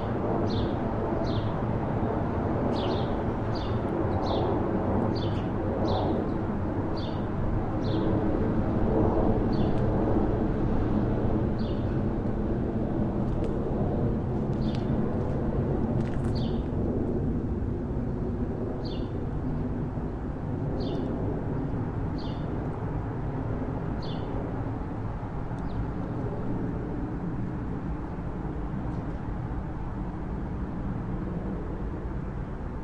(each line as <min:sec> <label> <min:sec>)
0:00.0 Plane 0:32.8
0:20.8 Birds 0:21.1
0:22.1 Birds 0:22.5
0:24.0 Birds 0:24.4